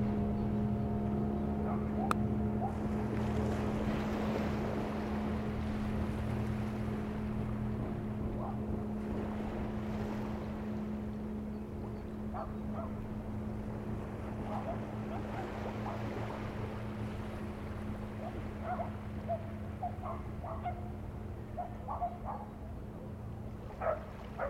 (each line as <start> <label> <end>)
0.0 fishing boat 24.4
0.0 sea 24.4
1.6 dogs barking 2.8
12.3 dogs barking 13.0
14.5 dogs barking 16.1
18.2 dogs barking 20.9
21.5 dogs barking 22.6
23.8 dogs barking 24.4